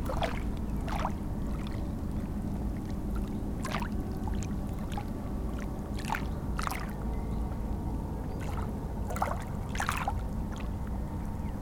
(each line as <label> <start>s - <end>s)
very small waves of the Seine river 0.0s - 11.6s